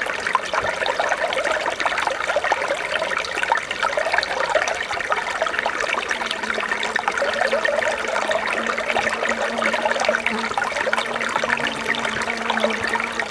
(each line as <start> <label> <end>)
0.0 Tiny Forest Stream 13.3
5.5 bees 13.3